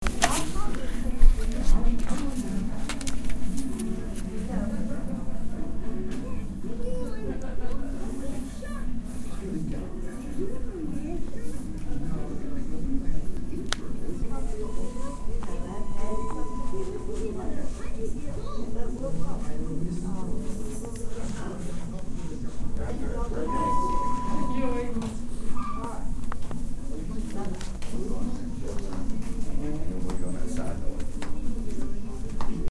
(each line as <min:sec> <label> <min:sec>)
0:00.0 chatter 0:32.7
0:00.0 tv 0:32.7
0:00.0 papers 0:04.4